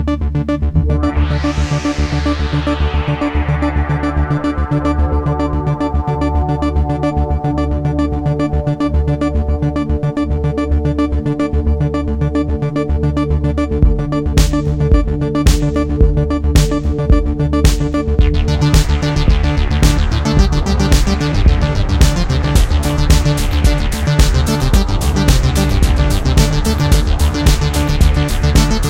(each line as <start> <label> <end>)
0.0 synthesizer 28.8
13.8 Drum Samples 28.8